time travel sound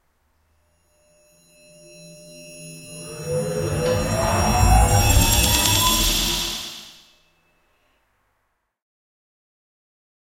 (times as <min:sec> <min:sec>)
0:01.3 0:07.1